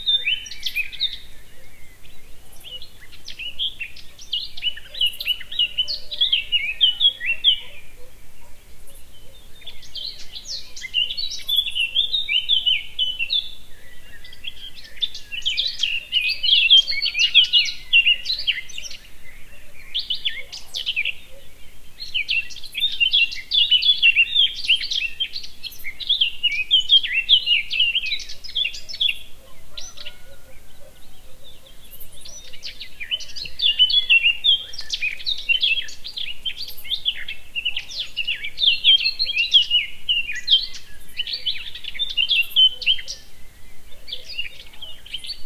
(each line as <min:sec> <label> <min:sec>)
0:00.0 birdsong 0:45.4